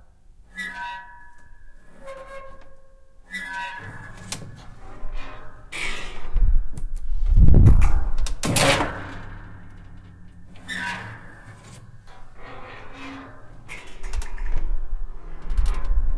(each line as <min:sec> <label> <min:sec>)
0:00.5 Attic door creaking 0:16.1